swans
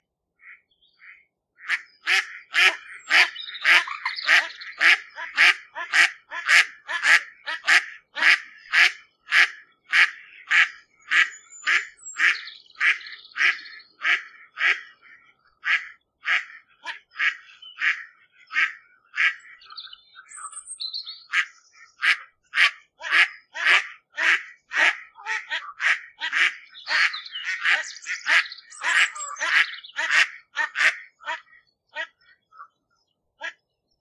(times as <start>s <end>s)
21.3s 32.8s, 33.4s 33.6s